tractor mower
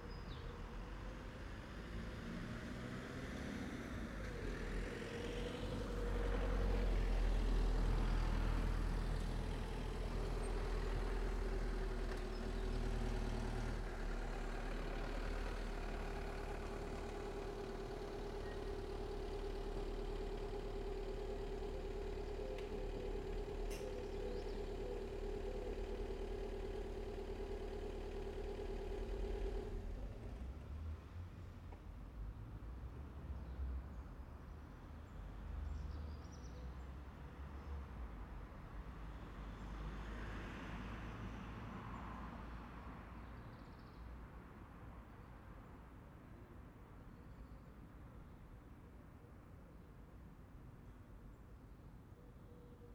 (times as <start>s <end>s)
9.2s 30.3s